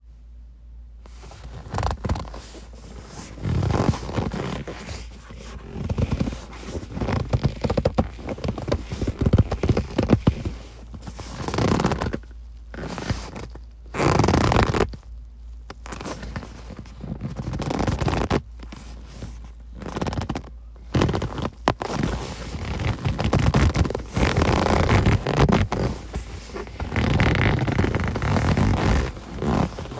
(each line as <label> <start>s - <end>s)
Leather Car Seat Handling 1.0s - 15.0s
Leather Car Seat Handling 15.7s - 29.9s